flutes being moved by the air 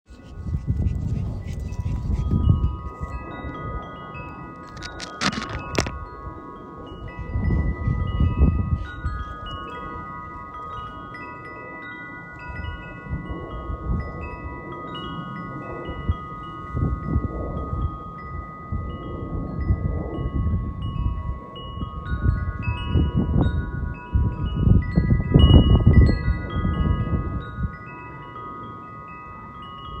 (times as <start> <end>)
0.1 3.3, 4.6 6.0